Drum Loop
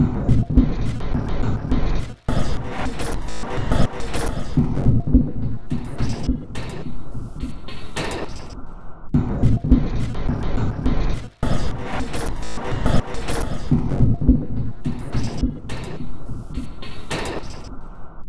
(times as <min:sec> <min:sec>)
0:00.0 0:04.7, 0:09.2 0:13.8